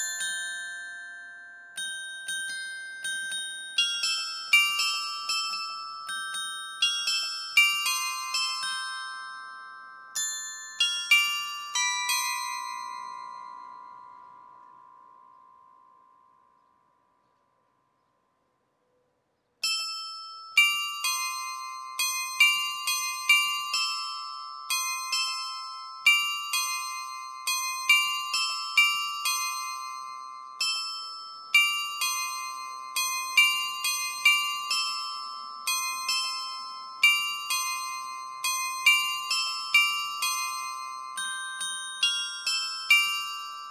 Carillon 0:00.0 - 0:17.2
Carillon 0:19.6 - 0:43.7

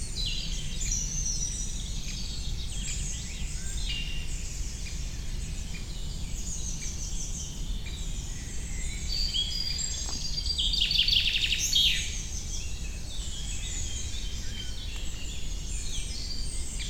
Common Chaffinch 0:00.0 - 0:16.8
anxious Great Spotted Woodpecker 0:03.0 - 0:16.8
juvenile Great Tit 0:08.8 - 0:16.8

